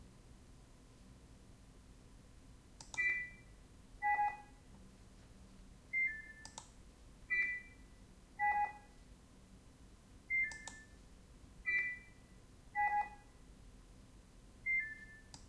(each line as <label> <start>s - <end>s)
robot sensor sounds 7.3s - 7.8s
robot sensor sounds 11.7s - 12.2s